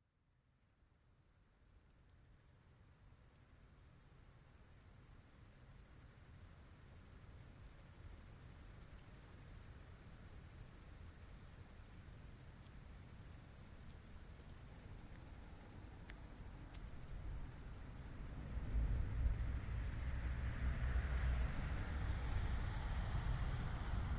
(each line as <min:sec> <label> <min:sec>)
0:11.5 Shrill insect 0:24.1